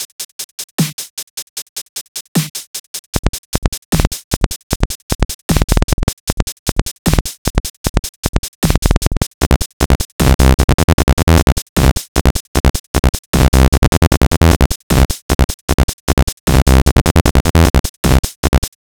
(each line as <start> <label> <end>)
7.1 Glitchy beat 18.8
8.7 bassline 18.8